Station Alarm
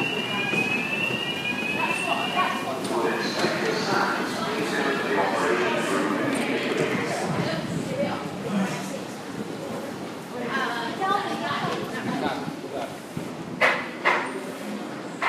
0:00.0 0:07.0

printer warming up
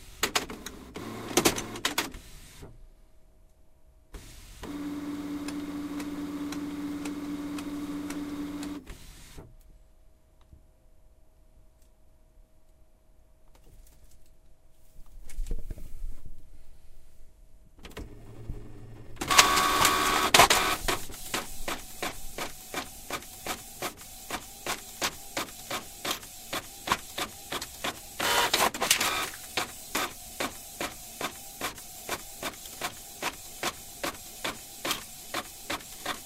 0:04.6 0:09.1, 0:17.8 0:36.2

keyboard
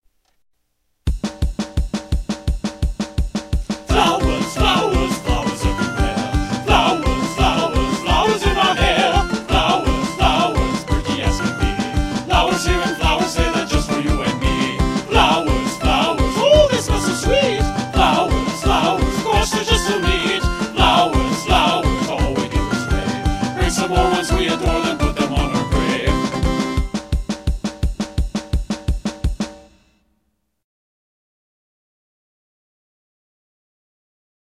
0:03.9 0:27.3

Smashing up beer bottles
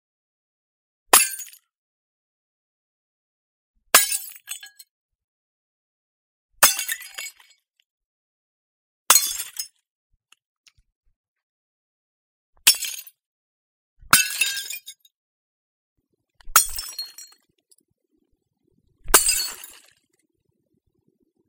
0:19.1 0:19.9

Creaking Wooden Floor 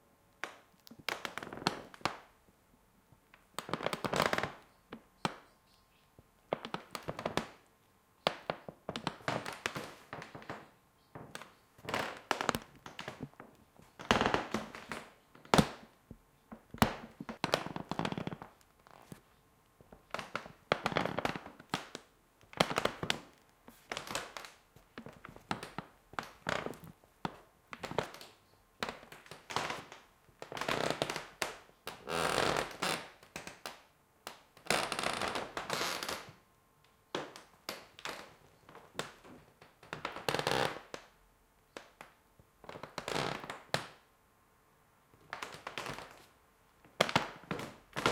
0:08.9 0:15.9, 0:16.5 0:19.2, 0:31.9 0:33.1, 0:34.7 0:36.4, 0:39.8 0:41.0

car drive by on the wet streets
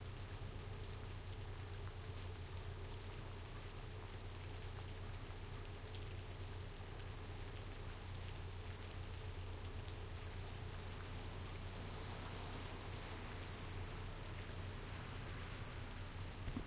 0:04.8 0:16.6

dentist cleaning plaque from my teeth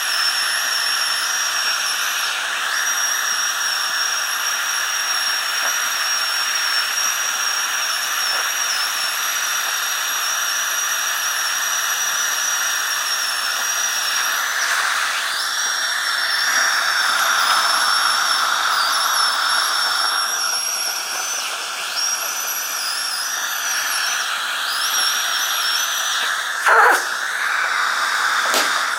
0:14.1 0:28.9

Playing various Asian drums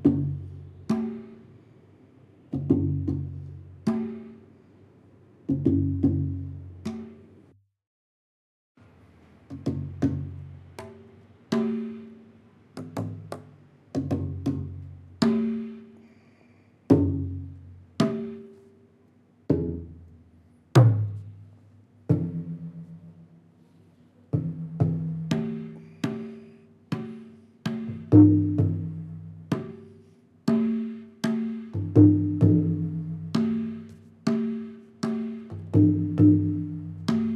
0:00.0 0:01.4, 0:02.6 0:04.4, 0:05.5 0:07.2, 0:09.5 0:12.2, 0:14.0 0:15.8, 0:16.9 0:18.5, 0:22.1 0:23.0, 0:24.4 0:29.9, 0:30.5 0:37.3

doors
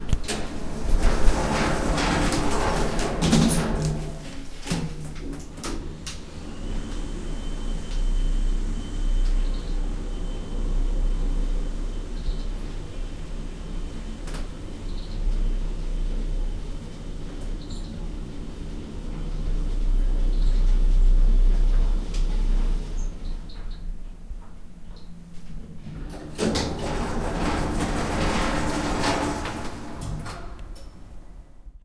0:00.0 0:06.2, 0:24.5 0:31.6

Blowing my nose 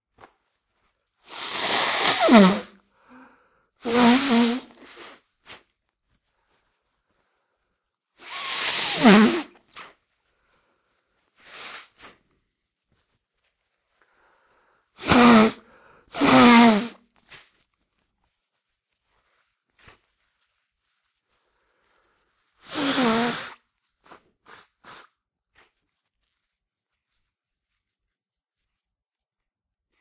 0:01.2 0:03.2, 0:03.8 0:05.2, 0:08.2 0:09.6, 0:15.0 0:17.0, 0:22.6 0:23.6

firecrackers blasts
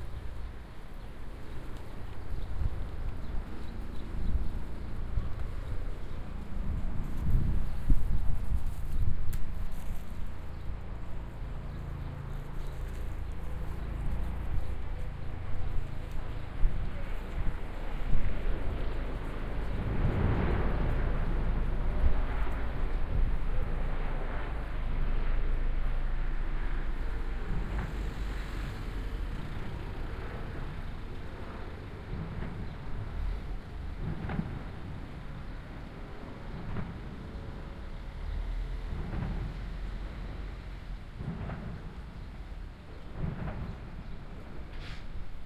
0:41.1 0:45.2

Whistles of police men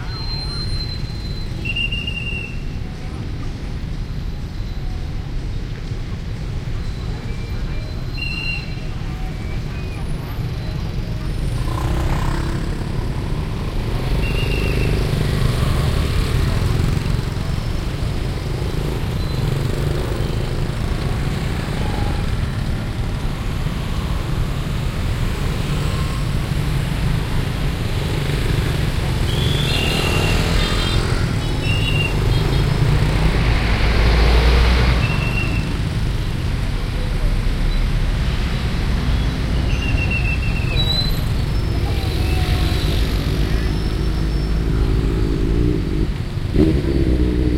0:00.0 0:02.6, 0:06.8 0:10.0, 0:29.2 0:30.7, 0:39.1 0:41.2

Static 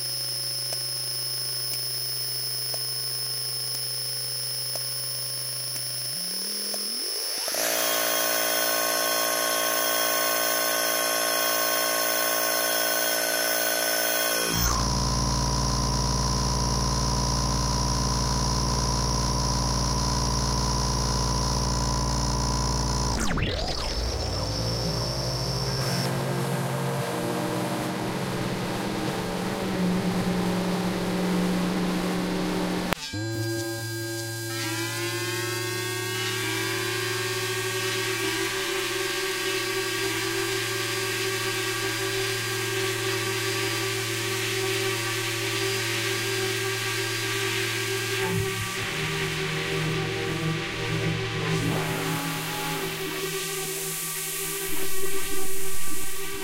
0:00.0 0:26.5

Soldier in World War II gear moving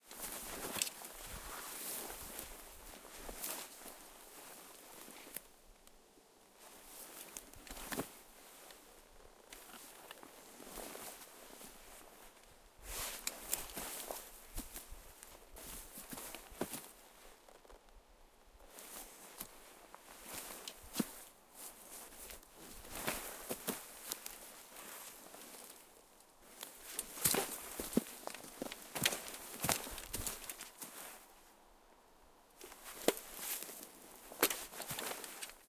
0:00.1 0:05.4, 0:09.5 0:17.7, 0:26.4 0:31.2, 0:32.6 0:35.6

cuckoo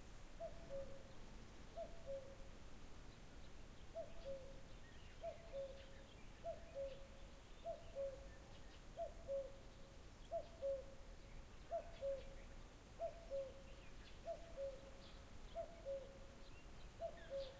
0:00.4 0:01.1, 0:01.7 0:02.4, 0:03.9 0:04.6, 0:05.2 0:09.6, 0:10.3 0:11.0, 0:11.7 0:12.4, 0:13.0 0:16.3, 0:17.0 0:17.5

